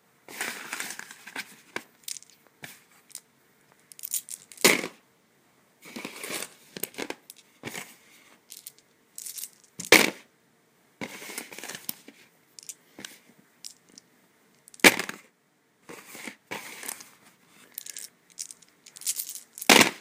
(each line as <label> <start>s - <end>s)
various dice rolling on a cardboard surface 0.3s - 3.2s
various dice rolling on a cardboard surface 3.8s - 5.0s
various dice rolling on a cardboard surface 5.9s - 10.2s
various dice rolling on a cardboard surface 11.0s - 15.3s
various dice rolling on a cardboard surface 15.9s - 20.0s